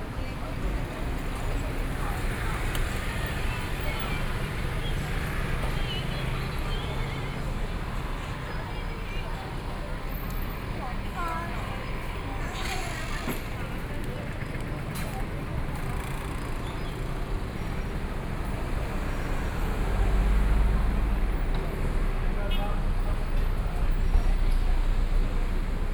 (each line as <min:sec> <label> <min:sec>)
0:00.0 Traffic Sound 0:25.9
0:00.0 Various shops sound 0:25.9
0:00.0 train traveling through the neighborhood 0:25.9
0:00.0 walking on the Road 0:25.9